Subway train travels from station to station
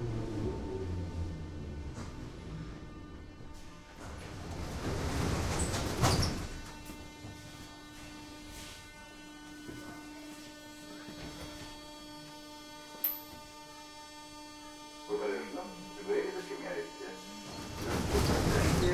0:00.0 0:08.0, 0:15.1 0:18.9

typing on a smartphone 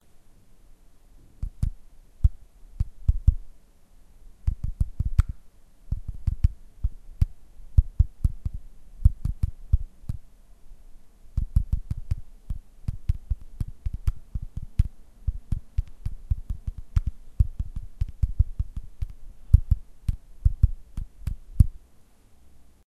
0:04.5 0:05.3, 0:05.9 0:06.6, 0:07.2 0:10.2, 0:11.4 0:21.7

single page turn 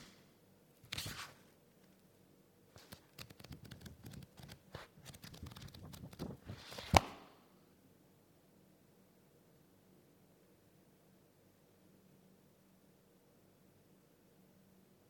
0:00.8 0:01.5, 0:02.8 0:07.2

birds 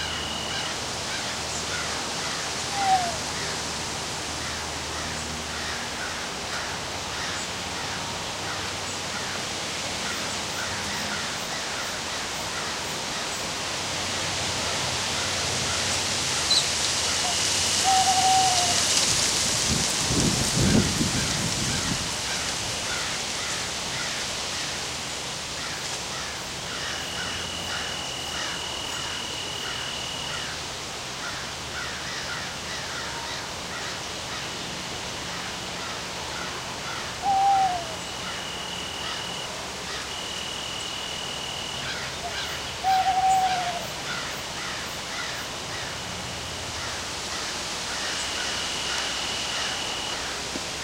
0:15.1 0:19.1, 0:25.5 0:30.6, 0:31.2 0:46.1

